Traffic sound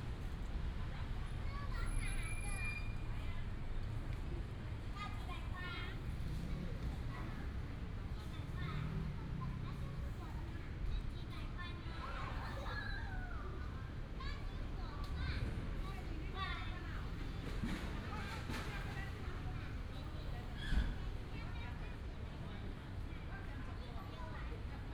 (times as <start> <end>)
2.9 12.4, 13.5 23.1